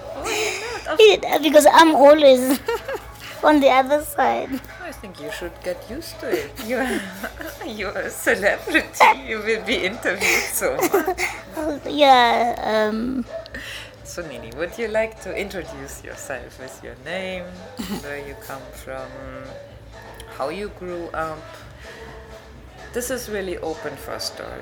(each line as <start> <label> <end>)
0.0 talking life 13.9
17.8 talking life 18.5